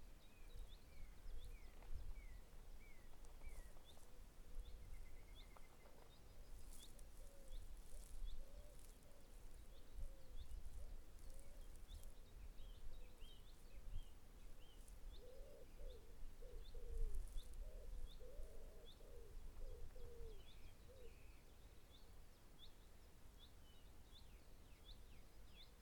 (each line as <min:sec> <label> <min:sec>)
0:01.6 wood pigeons 0:12.1